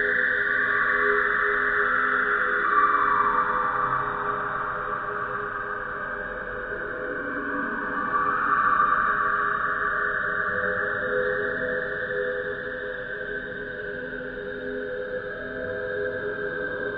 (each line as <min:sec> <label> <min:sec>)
0:00.0 slowly evolving ambient drone pad 0:16.9